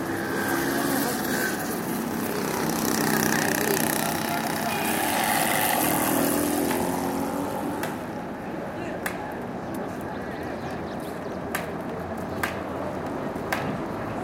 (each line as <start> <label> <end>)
0.0 traffic 14.2